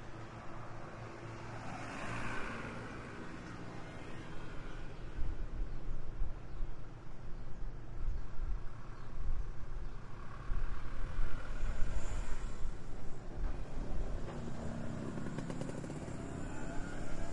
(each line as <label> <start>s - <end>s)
motoconchos 13.8s - 17.3s